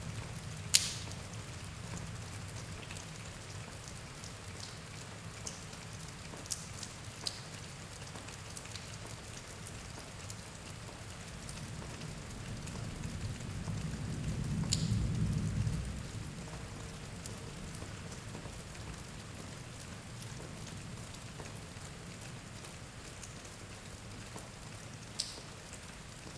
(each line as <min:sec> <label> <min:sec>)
0:00.0 Storm from inside barn 0:26.3